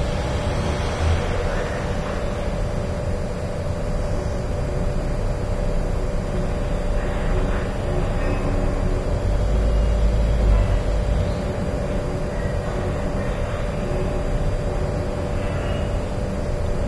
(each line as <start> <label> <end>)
0.0 traffic 2.5
0.0 aircon 16.8